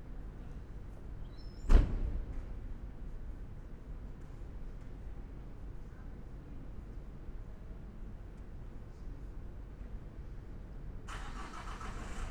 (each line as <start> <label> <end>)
11.1 car is starting 12.3